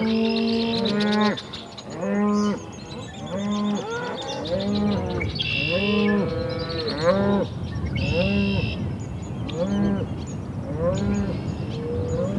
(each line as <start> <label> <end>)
0.0 Cows and bulls calling and mooing 8.8
0.0 bird singing 12.3
9.4 Cows and bulls calling and mooing 12.3